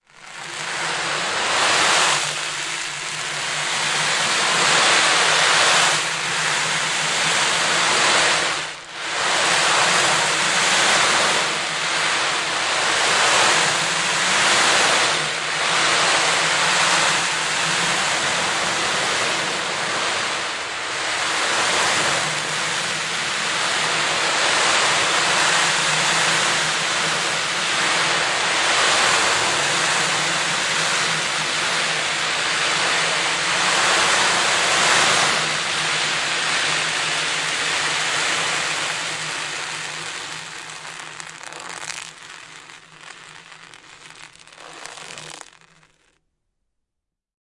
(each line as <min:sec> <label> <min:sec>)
0:37.4 swirling an ocean drum with the felt side faced downward 0:46.2